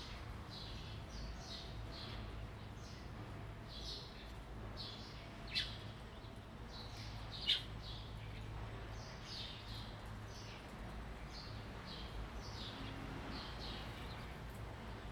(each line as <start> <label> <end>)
0.0 Wind 15.1